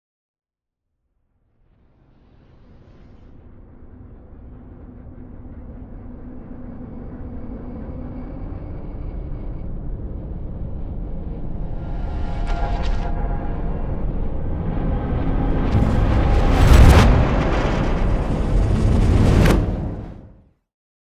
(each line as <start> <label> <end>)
15.7 whoosh 20.4
15.7 boom 20.4
15.7 riser 20.4